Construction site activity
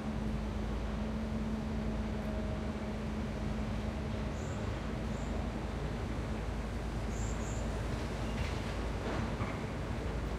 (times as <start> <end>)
7.9 10.3